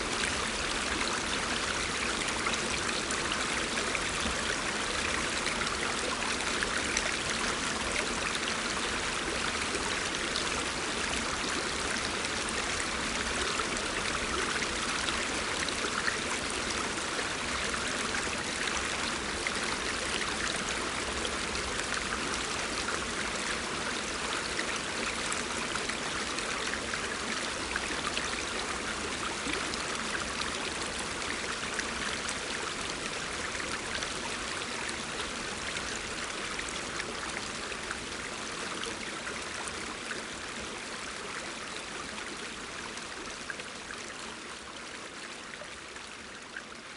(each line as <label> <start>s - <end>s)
Stream 0.0s - 46.9s